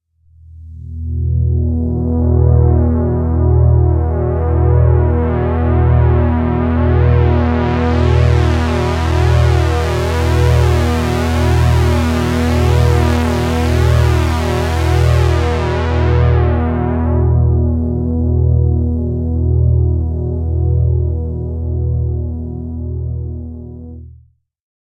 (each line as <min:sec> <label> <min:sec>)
0:00.4 Pulse made on Roland Juno-60 Synthesizer 0:24.2